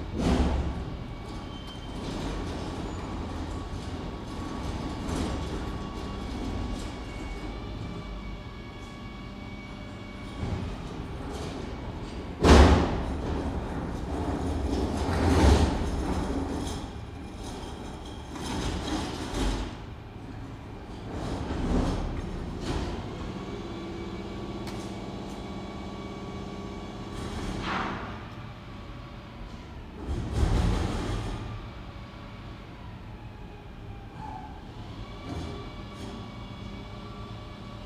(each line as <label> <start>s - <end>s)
Collecting bins from gentrifying flats 0.0s - 33.1s